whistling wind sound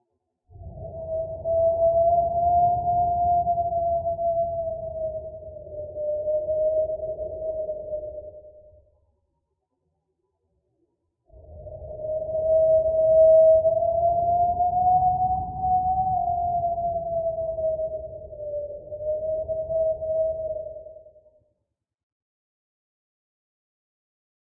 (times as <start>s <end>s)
0.5s 8.8s, 11.3s 21.3s